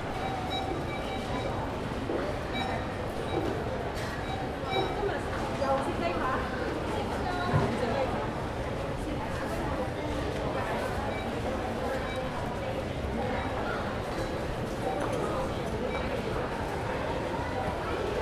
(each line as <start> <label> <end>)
0.0 checkout counter 18.2